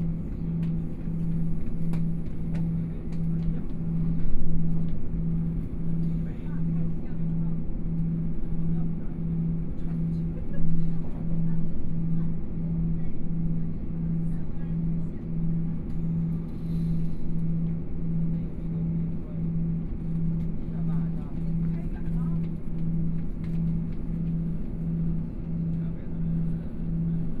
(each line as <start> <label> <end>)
0.0 Noise inside the train 27.4
18.4 Train voice message broadcasting 24.2